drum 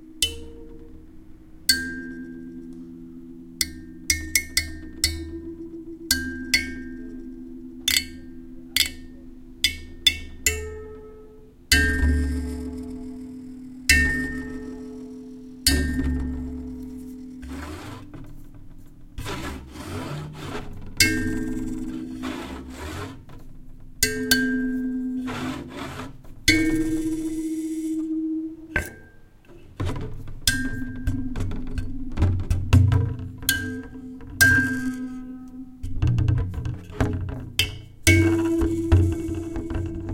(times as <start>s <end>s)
35.9s 40.1s